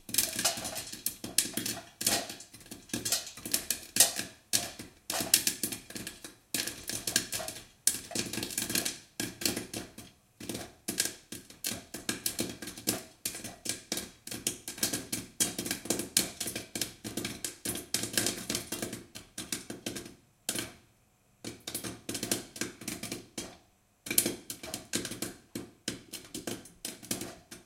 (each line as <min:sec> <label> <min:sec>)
0:00.0 sizzle 0:19.5
0:00.0 popcorn 0:20.8
0:21.4 popcorn 0:27.6